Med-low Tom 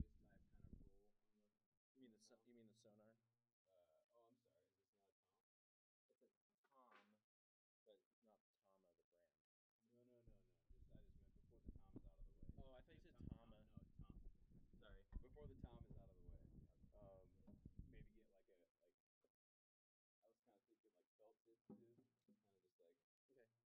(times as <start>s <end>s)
10.0s 18.6s